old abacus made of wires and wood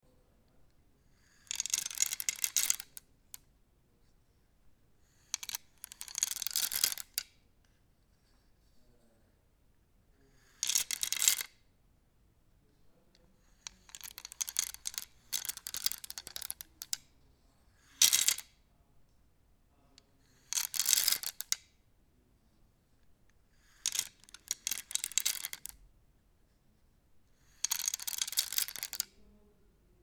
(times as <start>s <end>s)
0.4s 3.5s, 5.0s 9.0s, 10.2s 11.6s, 13.1s 21.8s, 23.0s 25.9s, 27.2s 29.4s